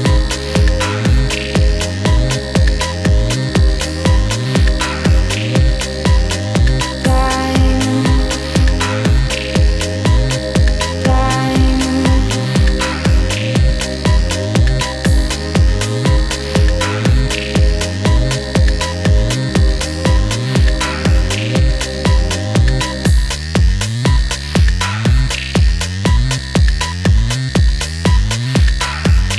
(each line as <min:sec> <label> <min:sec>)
0:00.0 voice 0:23.0
0:00.0 synth pad 0:23.5
0:00.0 beat 0:29.3
0:00.0 synth bass 0:29.3